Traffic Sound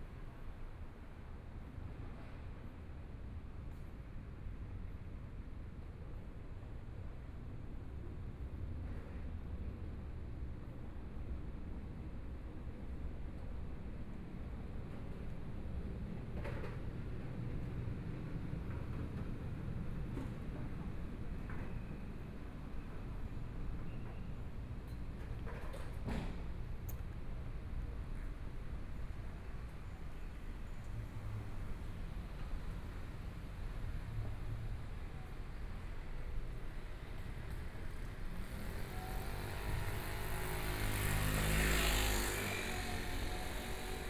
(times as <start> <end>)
15.7 44.0